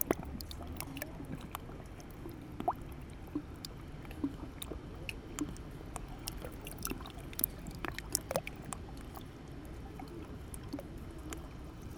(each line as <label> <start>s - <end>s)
Small lapping on the surface 0.0s - 9.3s